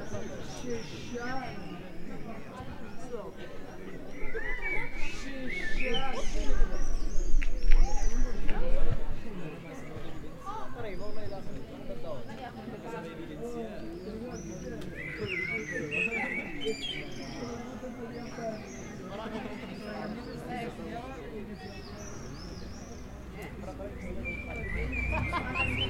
0.0s birds 25.8s
18.9s traffic 25.8s

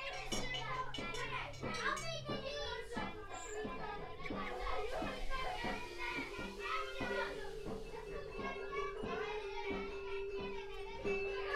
0.0s children in the primary school next door bring their music lesson outside 11.5s

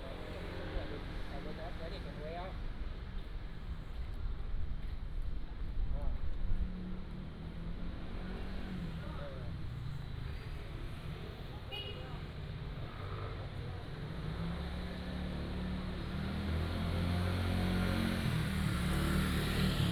6.6s Traffic Sound 19.9s

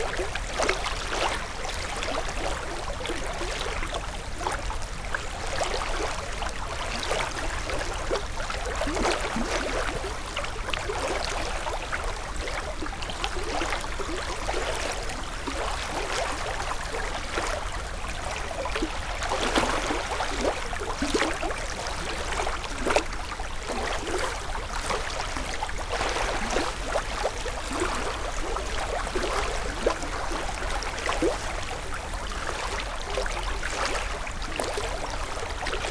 0.0s river flowing quietly 35.9s

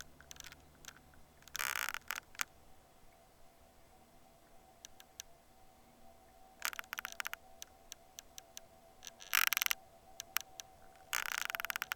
0.0s Creaking Tree 2.6s
6.6s Creaking Tree 11.9s

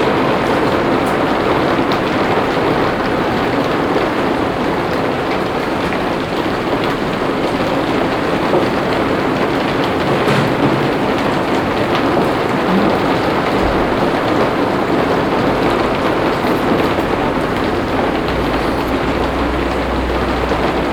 0.0s rain pouring on the roof top 20.9s

